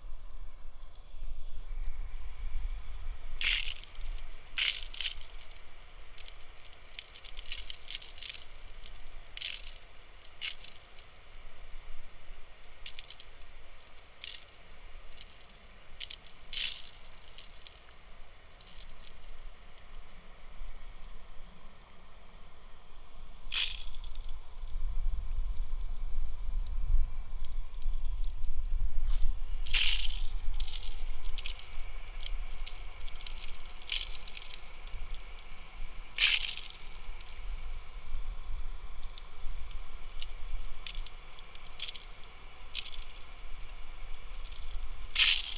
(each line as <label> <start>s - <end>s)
irrigation water wasted through heavily leaking hose connections 0.0s - 45.5s